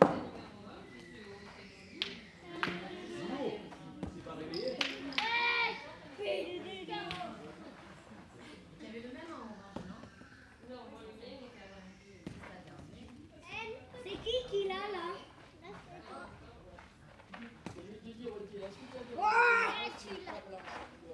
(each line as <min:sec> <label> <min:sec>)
0:00.0 Two boys playing Petanque 0:21.1